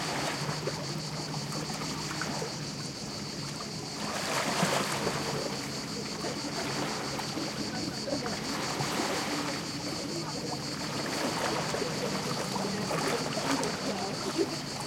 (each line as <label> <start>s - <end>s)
crickets 0.0s - 14.8s
passing boat 0.0s - 14.8s
waves lapping onto the rocky shore 0.0s - 14.8s